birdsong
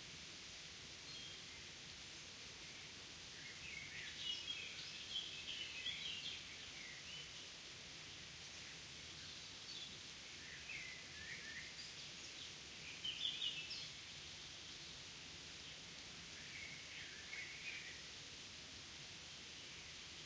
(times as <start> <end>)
8.6 14.0